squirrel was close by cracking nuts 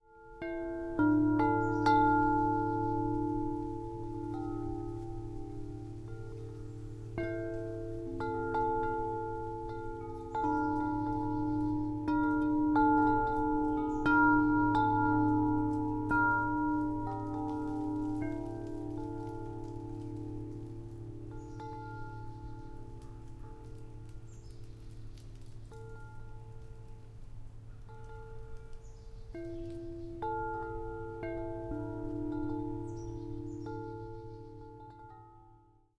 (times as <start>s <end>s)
22.8s 27.1s